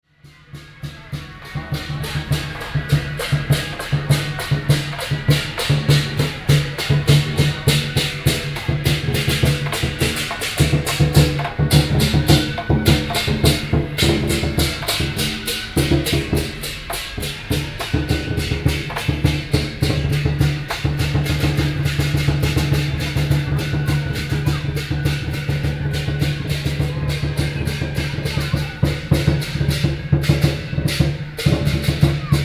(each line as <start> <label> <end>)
0.1 Traditional musical instruments 32.4